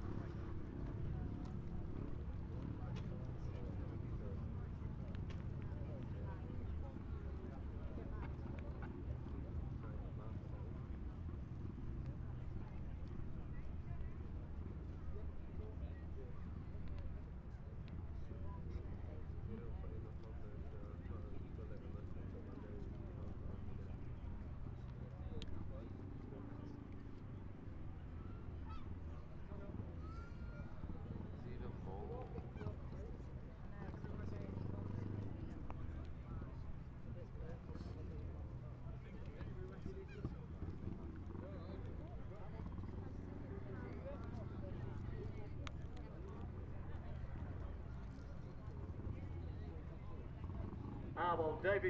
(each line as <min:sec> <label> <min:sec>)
0:19.1 motorbikes 0:51.8